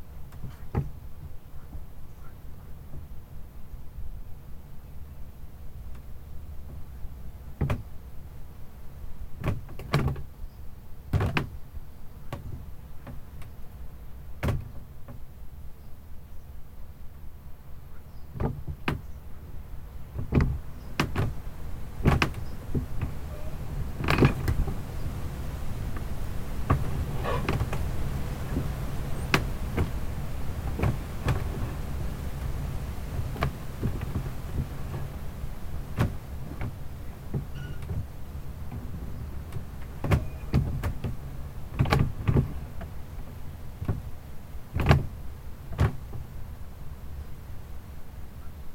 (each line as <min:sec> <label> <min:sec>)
0:00.0 Outdoor toilet cabin creaking in the wind 0:16.4
0:18.0 Outdoor toilet cabin creaking in the wind 0:48.7